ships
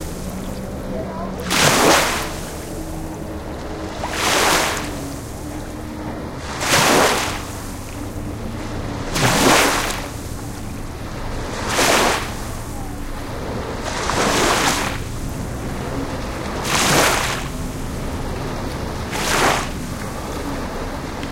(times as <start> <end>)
0.0 3.2, 4.0 5.8, 9.1 10.6, 11.3 13.2, 13.8 21.3